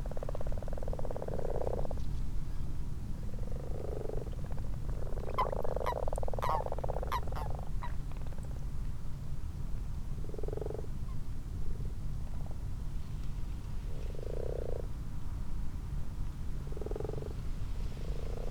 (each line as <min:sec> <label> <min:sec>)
0:00.0 common frogs 0:02.0
0:00.0 common toads 0:02.0
0:03.2 common frogs 0:08.6
0:03.3 common toads 0:08.6
0:10.2 common frogs 0:11.2
0:10.2 common toads 0:10.9
0:13.9 common frogs 0:15.0
0:14.0 common toads 0:14.9
0:16.6 common frogs 0:18.5
0:16.7 common toads 0:17.4